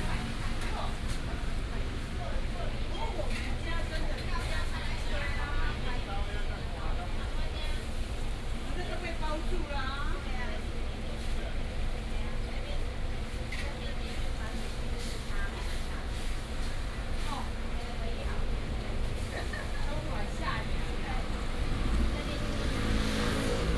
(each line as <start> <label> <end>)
0.0 Restaurant and traffic sound 23.7
18.6 traffic sound 23.7